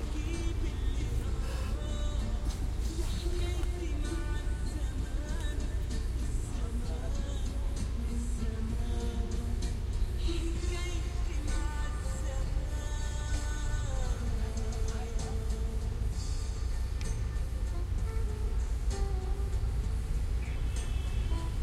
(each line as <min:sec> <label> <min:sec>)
0:00.0 Background music 0:21.6
0:00.0 Bikes 0:21.6
0:00.0 Traffic 0:21.6
0:08.0 Horns 0:21.6